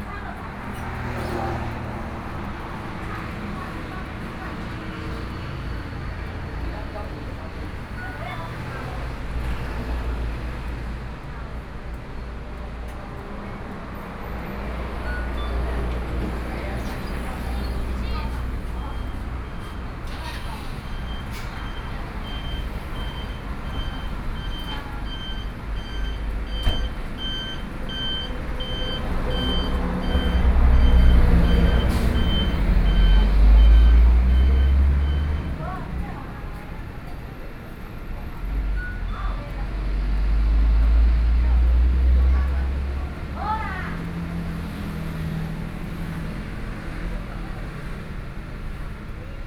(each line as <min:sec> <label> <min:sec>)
0:00.0 Traffic Sound 0:49.4